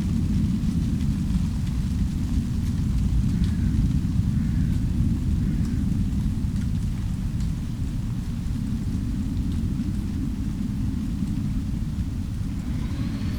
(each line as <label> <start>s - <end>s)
plane crossing the sky 12.0s - 13.3s
do-it-yourselfer in the distance 12.2s - 13.3s